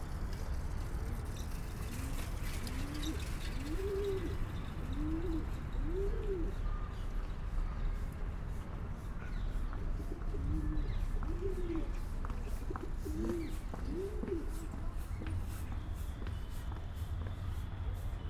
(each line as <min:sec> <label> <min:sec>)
0:02.7 male pigeon cooing en courting a female 0:06.6
0:10.1 male pigeon cooing en courting a female 0:14.7